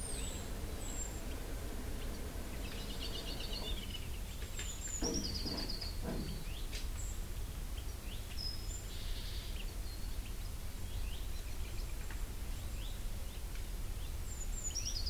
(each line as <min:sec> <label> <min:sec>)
0:00.0 Blue Tit 0:01.4
0:02.0 Blue Tit 0:07.2